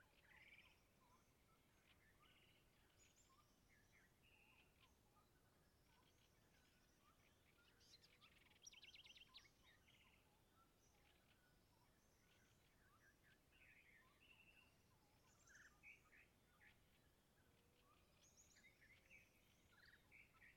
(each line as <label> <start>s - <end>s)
Singing Birds 0.0s - 20.5s